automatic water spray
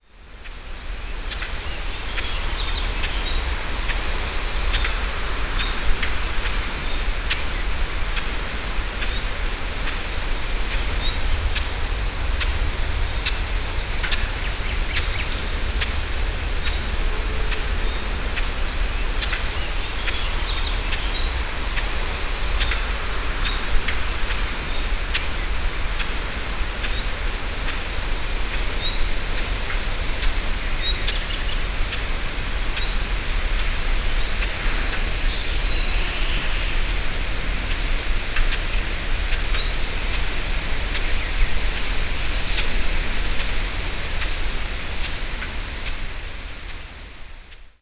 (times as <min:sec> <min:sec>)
0:34.5 0:36.9